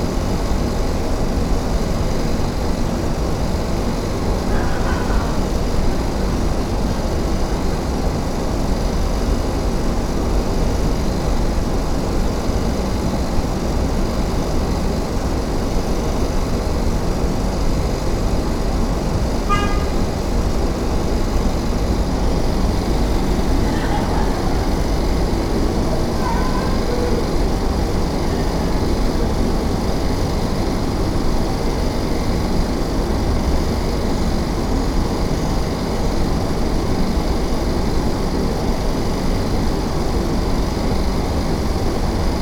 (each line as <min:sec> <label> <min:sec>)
0:00.0 buzz of AC units 0:42.4
0:22.3 staff laughs and conversations 0:30.2